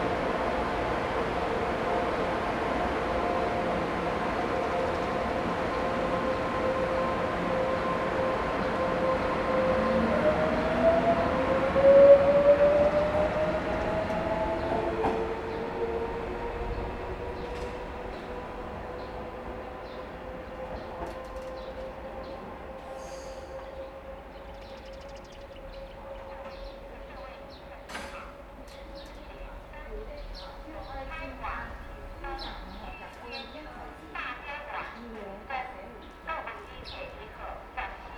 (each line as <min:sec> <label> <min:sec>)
0:00.0 Train traveling through 0:38.1
0:29.3 Station broadcast messages 0:38.1